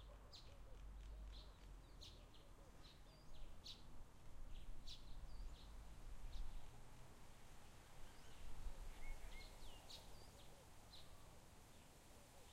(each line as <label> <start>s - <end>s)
gentle breeze 0.0s - 12.5s